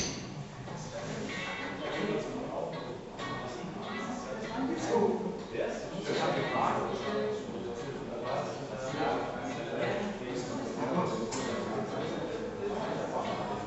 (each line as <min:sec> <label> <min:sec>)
0:00.0 people 0:13.6